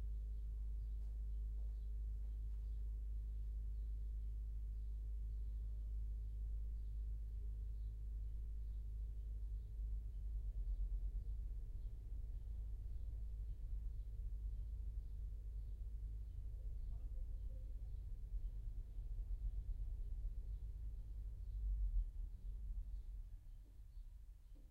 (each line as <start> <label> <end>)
0.0 Low Bass Pulse 24.7